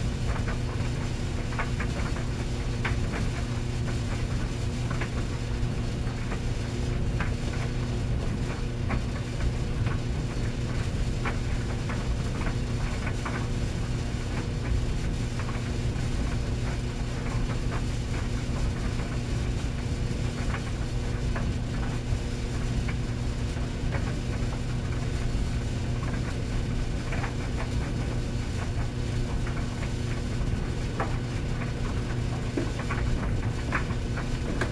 dryer running with a few clothes on 0:00.0 - 0:34.7

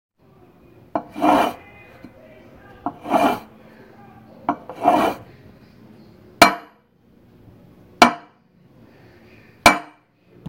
Sliding a metal cup or mug on a wooden table 0:01.0 - 0:01.6
Sliding a metal cup or mug on a wooden table 0:02.8 - 0:03.5
Sliding a metal cup or mug on a wooden table 0:04.5 - 0:05.3

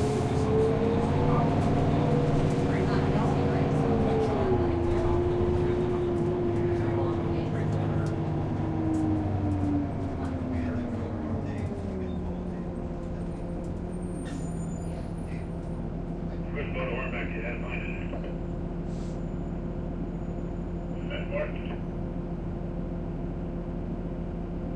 people boarding 0:00.0 - 0:18.8
Conversation among passengers 0:00.0 - 0:22.9
bus is just idling 0:00.0 - 0:24.7
bus shifts into gear 0:11.6 - 0:16.4
Message on the radio 0:16.5 - 0:18.4
bus shifts into gear 0:18.1 - 0:20.8
Message on the radio 0:21.0 - 0:21.8

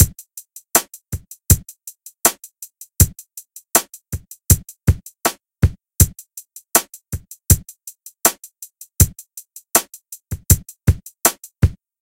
kick hat snare 0:00.8 - 0:03.2
kick hat snare 0:03.8 - 0:06.2
kick hat snare 0:06.8 - 0:07.7
kick hat snare 0:09.8 - 0:11.8

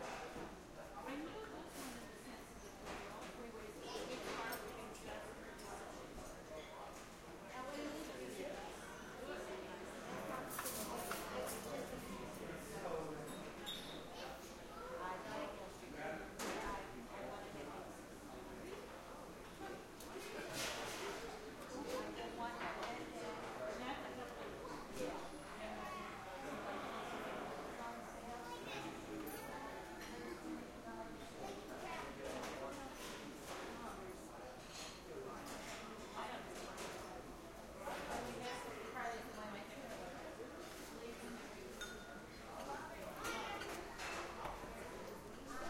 dishes 0:41.7 - 0:42.2
silverware 0:41.8 - 0:42.1

